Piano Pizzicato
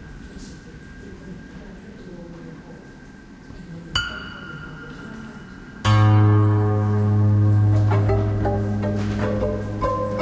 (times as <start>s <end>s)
5.8s 10.2s